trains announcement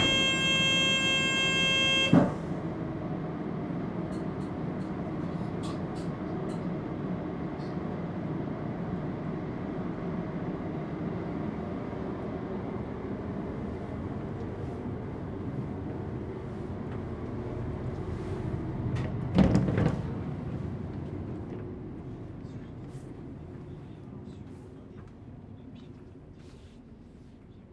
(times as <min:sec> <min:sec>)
0:00.0 0:02.4